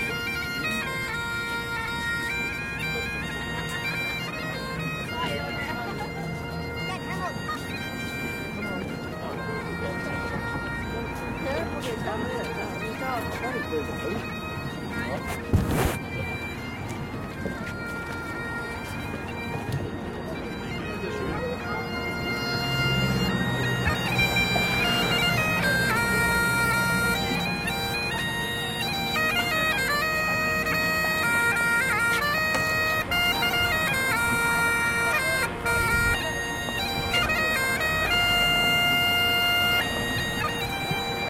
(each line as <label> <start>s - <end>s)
bagpipe 0.0s - 41.2s
people 0.0s - 41.2s
traffic 0.0s - 41.2s